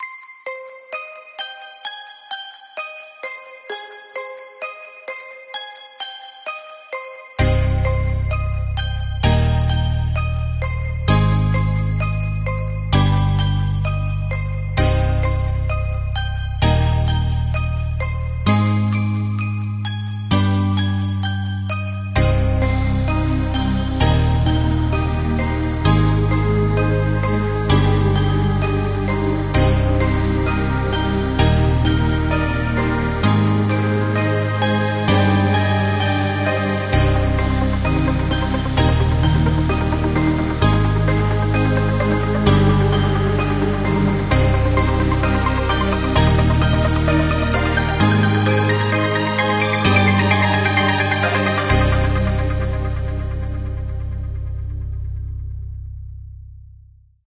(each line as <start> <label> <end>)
7.0 piano 55.5